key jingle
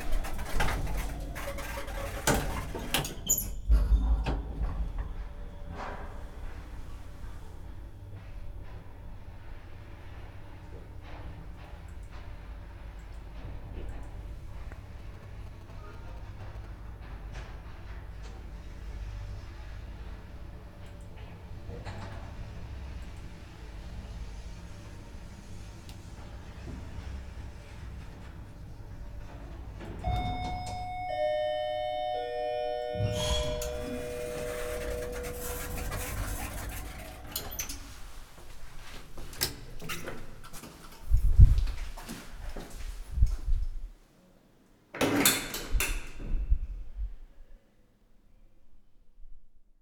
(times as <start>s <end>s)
30.0s 37.9s